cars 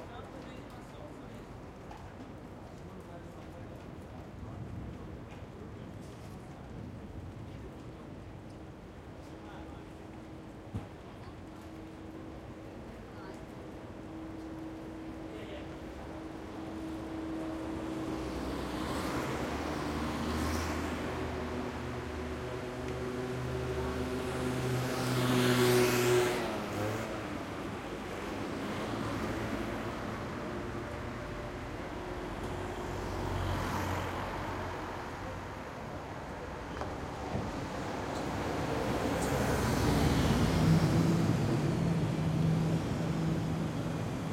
9.5s 44.3s

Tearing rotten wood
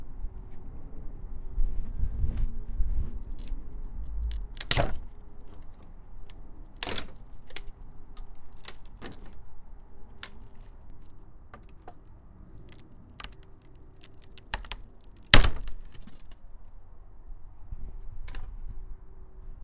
3.2s 16.5s

